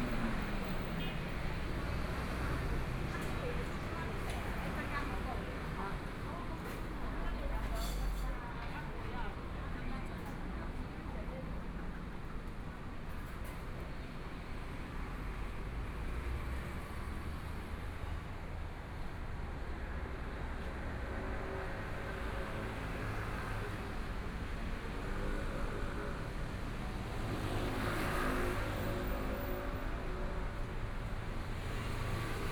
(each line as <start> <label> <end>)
20.3 Traffic Sound 32.5